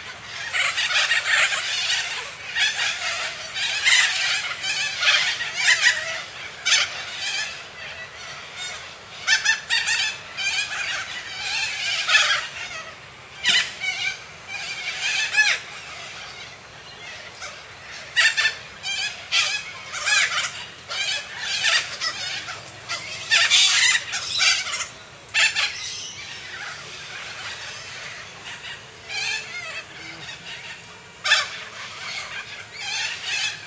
Roosting Corellas 0:00.0 - 0:33.6

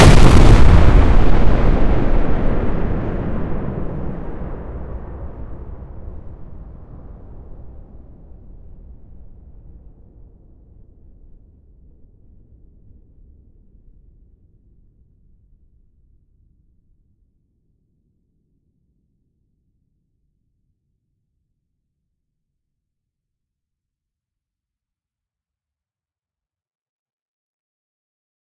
synthetic explosion sound 0:00.0 - 0:06.1

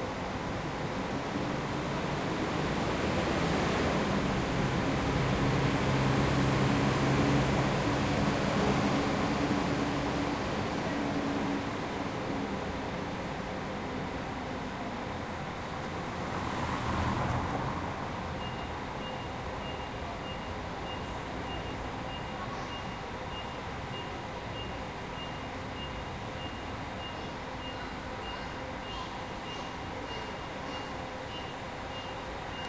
Bus leaving 0:00.0 - 0:32.6
passing cars 0:15.3 - 0:20.0

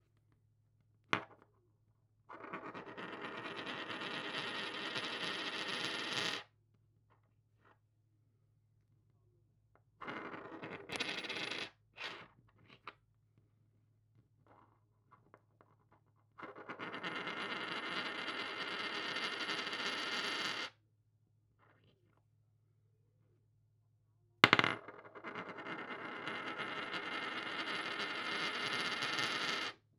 spinning coin 0:02.3 - 0:06.4
spinning coin 0:10.0 - 0:11.7
coin drop 0:10.2 - 0:11.7
spinning coin 0:16.4 - 0:20.7
coin drop 0:24.4 - 0:29.8
spinning coin 0:24.4 - 0:29.8

